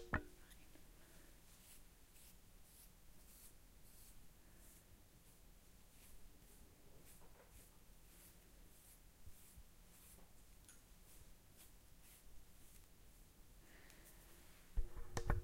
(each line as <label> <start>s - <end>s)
Faint breathing 0.8s - 1.5s
Fine tooth comb brushing short hair 1.4s - 12.9s
Faint breathing 13.6s - 14.7s